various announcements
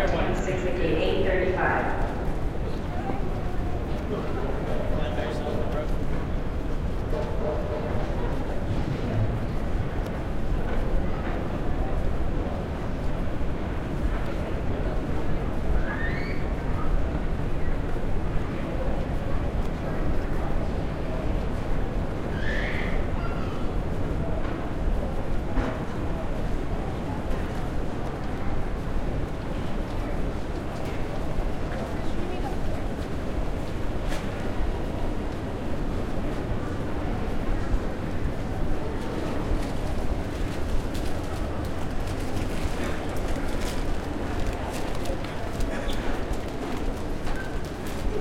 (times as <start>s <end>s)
0.0s 2.3s